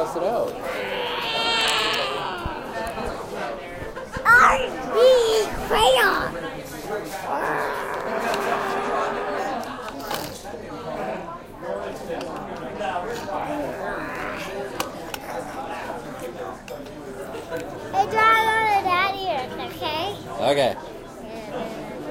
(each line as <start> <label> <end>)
0.0 voices 20.3
0.0 Having breakfast 10.4